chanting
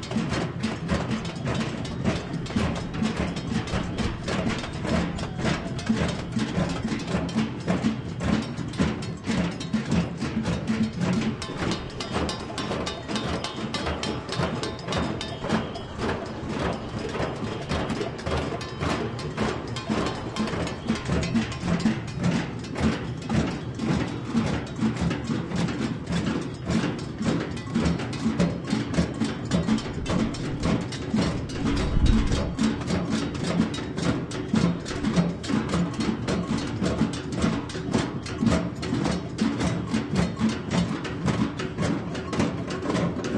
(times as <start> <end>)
1.2 7.0, 11.8 22.1